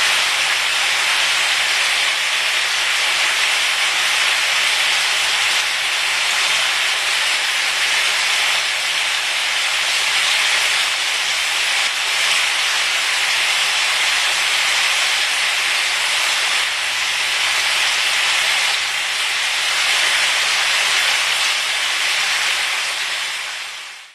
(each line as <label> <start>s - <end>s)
frying meat, onion, pepper 0.0s - 24.1s